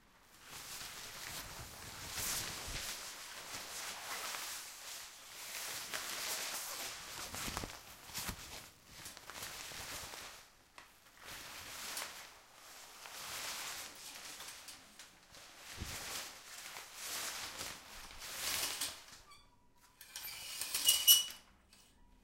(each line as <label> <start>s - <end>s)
shower curtain being clenched and pulled around 0.2s - 22.0s